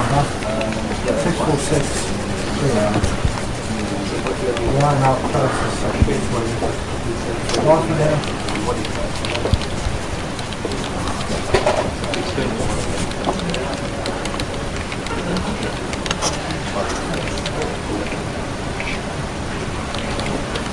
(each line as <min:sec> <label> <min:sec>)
0:00.0 writing with a pen 0:18.1
0:00.0 Printer printing 0:20.7
0:00.0 a/c running constantly 0:20.7
0:00.0 people talking 0:20.7
0:07.5 typing 0:18.2
0:19.9 typing 0:20.7